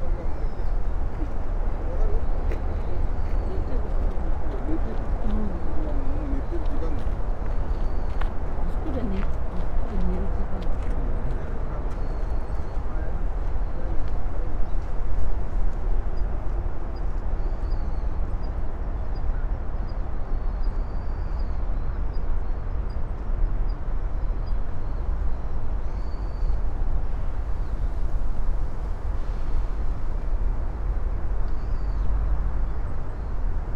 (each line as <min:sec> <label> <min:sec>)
0:00.0 birds 0:28.0